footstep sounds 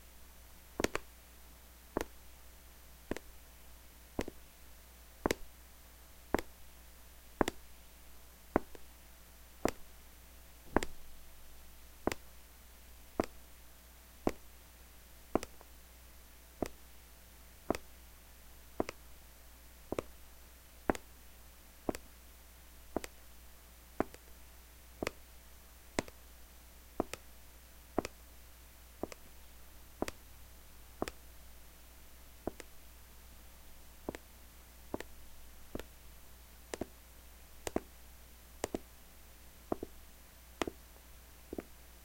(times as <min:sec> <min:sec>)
0:04.2 0:04.4, 0:05.2 0:05.5, 0:06.3 0:06.6, 0:07.4 0:07.7, 0:08.6 0:08.9, 0:09.6 0:09.9, 0:10.7 0:11.2, 0:13.2 0:13.4, 0:14.2 0:14.5, 0:15.3 0:15.7, 0:16.6 0:16.8, 0:17.7 0:17.9, 0:18.8 0:19.0, 0:19.9 0:20.2, 0:20.9 0:21.1, 0:21.9 0:22.1, 0:22.9 0:23.2, 0:24.0 0:24.3, 0:26.0 0:26.2, 0:27.0 0:27.2, 0:29.0 0:30.2, 0:31.0 0:31.2, 0:32.4 0:32.7, 0:34.0 0:34.2, 0:34.9 0:35.9, 0:36.7 0:37.0, 0:38.6 0:38.9, 0:39.7 0:40.0, 0:40.6 0:40.8, 0:41.5 0:41.8